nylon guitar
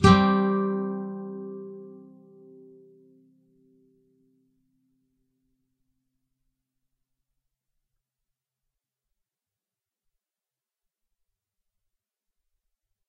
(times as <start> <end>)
0.0 4.5